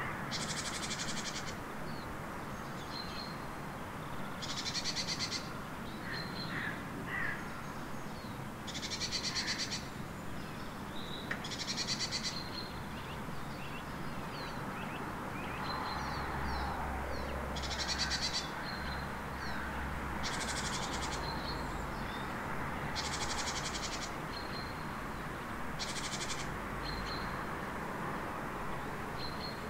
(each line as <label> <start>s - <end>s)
several birds 0.0s - 3.4s
street-noice 0.0s - 29.6s
several birds 4.2s - 25.0s
several birds 25.8s - 27.5s